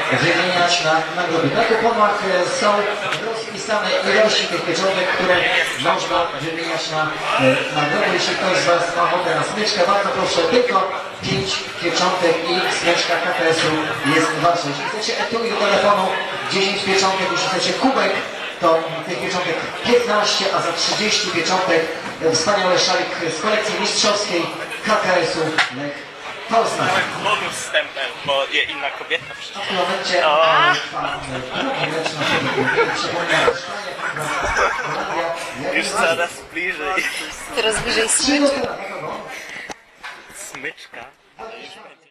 transmission of the final Fifa match 0:00.0 - 0:42.1

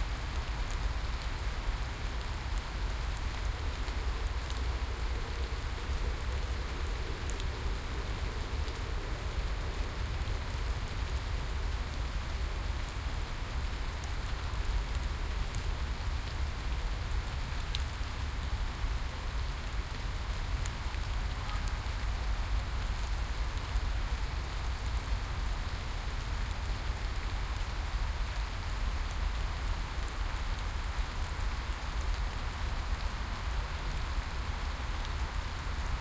rain 0:00.0 - 0:36.0

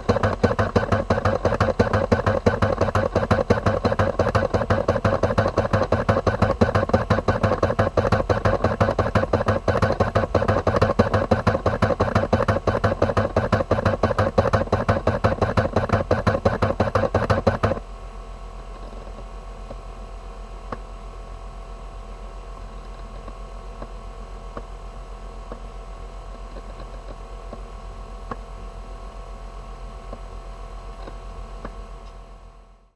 USB SuperDrive working 0:00.0 - 0:17.8

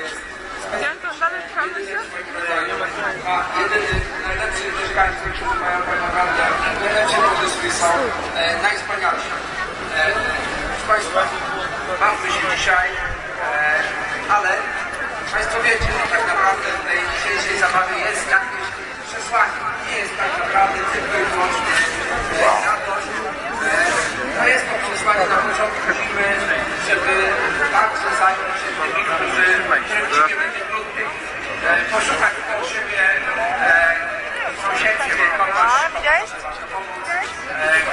crowd 0:00.0 - 0:37.9

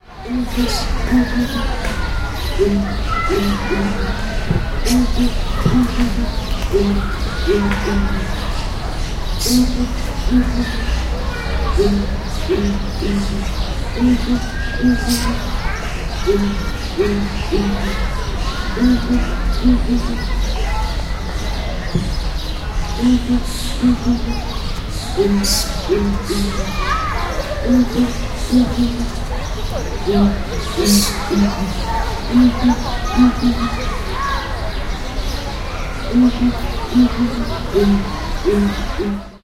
ambient sounds of the zoo 0:00.0 - 0:39.4
Song of two males of Southern Ground Hornbill 0:30.1 - 0:33.8

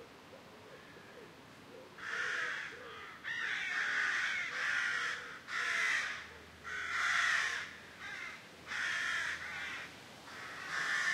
crows flying and cawing over their nests 0:02.0 - 0:11.1
lot of wind 0:06.4 - 0:11.1

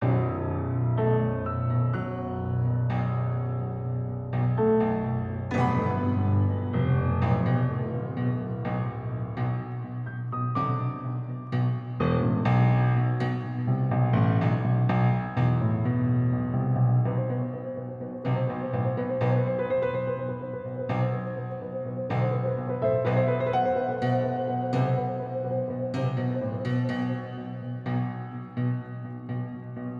piano 0:00.0 - 0:29.9

